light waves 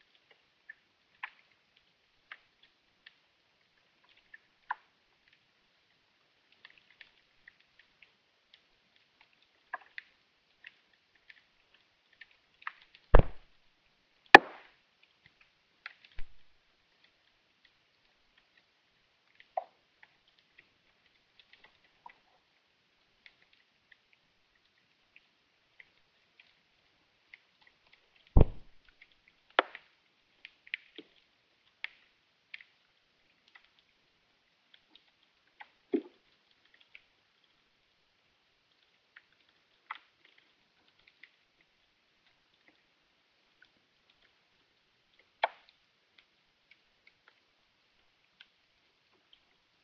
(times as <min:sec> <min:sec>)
0:28.4 0:29.0